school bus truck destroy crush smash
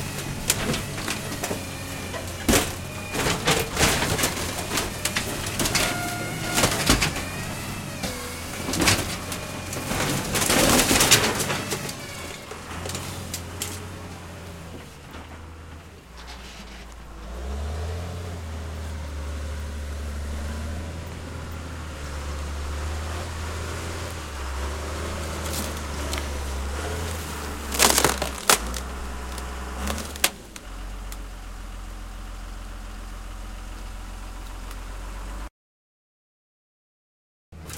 0:00.0 0:15.7, 0:18.4 0:30.8

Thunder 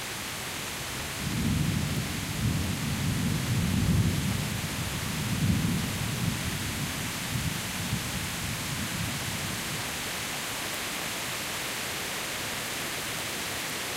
0:01.2 0:06.5

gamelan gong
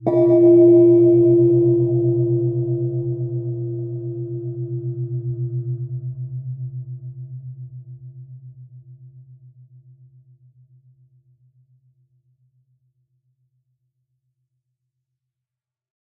0:00.0 0:06.1

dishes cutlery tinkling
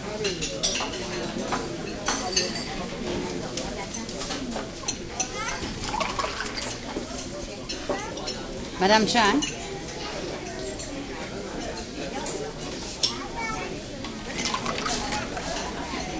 0:14.3 0:16.1

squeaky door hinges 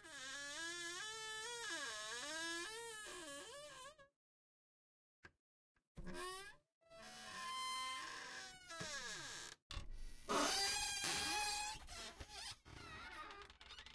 0:06.0 0:13.9

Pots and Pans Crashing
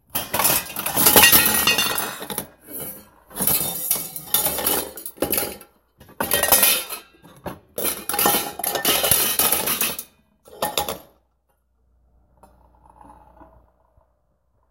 0:00.1 0:11.2

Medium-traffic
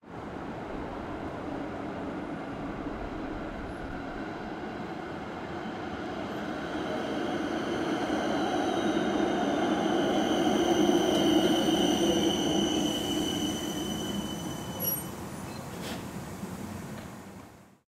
0:14.7 0:17.8

